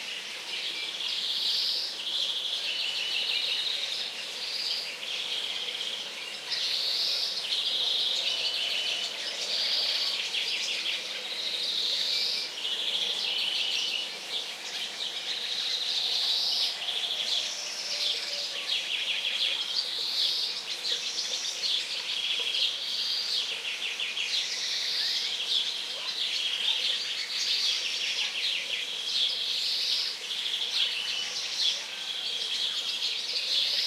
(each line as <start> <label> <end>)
0.0 Murmur of running water 33.8